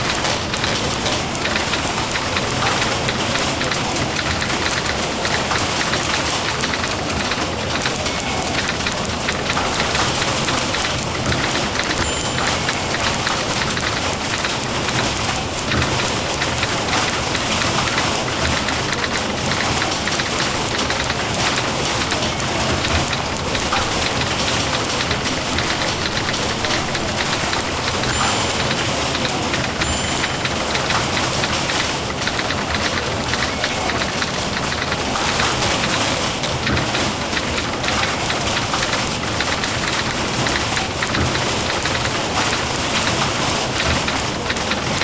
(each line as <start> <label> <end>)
0.0 huge typing pool 45.0